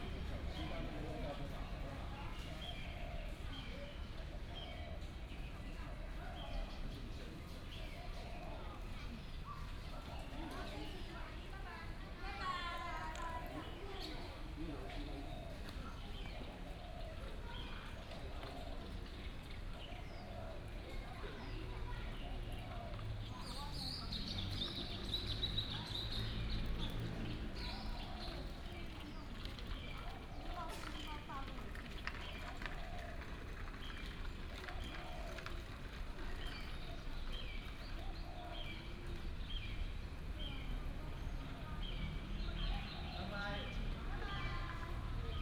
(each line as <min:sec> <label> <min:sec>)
0:00.0 birds 0:45.4
0:20.5 traffic sound 0:45.4